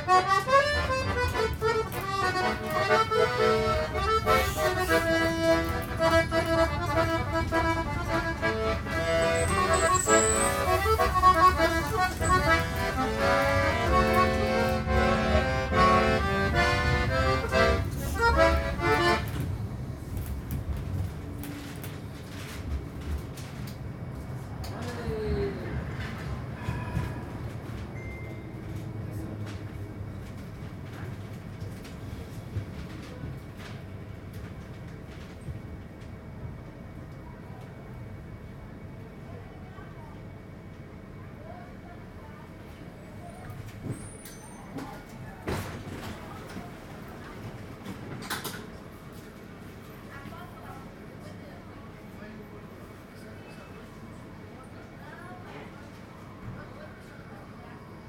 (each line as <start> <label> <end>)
0.0 Accordionist in the tram 97 21.8